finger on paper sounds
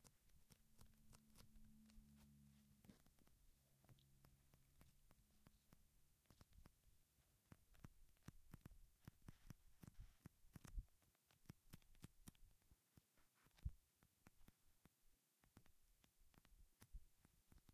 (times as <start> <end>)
0.0 3.4, 7.4 14.6